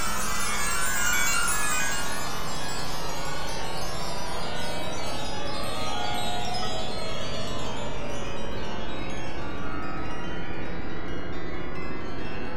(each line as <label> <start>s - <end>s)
weird shimmer noise 0.0s - 8.0s